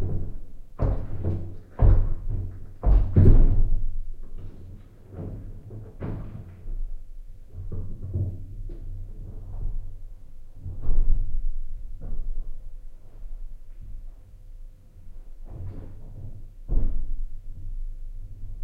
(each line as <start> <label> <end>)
0.0 upstairs neighbors stomping 4.0